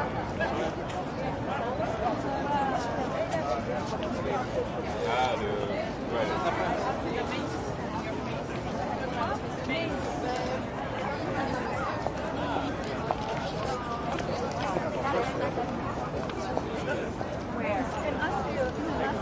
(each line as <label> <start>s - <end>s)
crowd ext medium active walla 0.0s - 19.2s